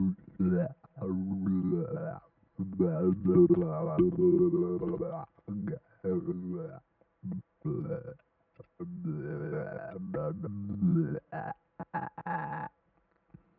Weird human sounds 0:00.0 - 0:12.8

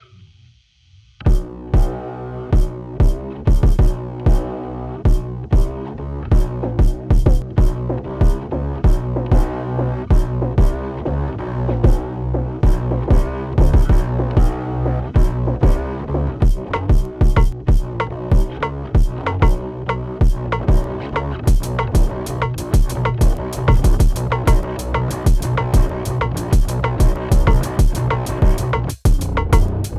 Bass 0:00.0 - 0:29.9
kick 0:02.6 - 0:04.4

